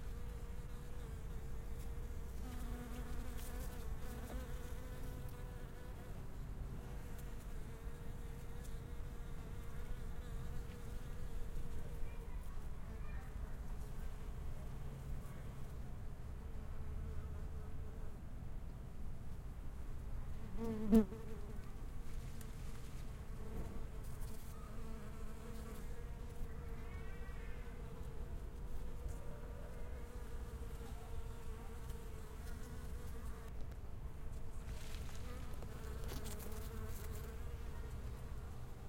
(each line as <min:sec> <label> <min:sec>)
0:00.0 bees flying around 0:12.4
0:20.4 bees flying around 0:33.6
0:34.6 bees flying around 0:38.8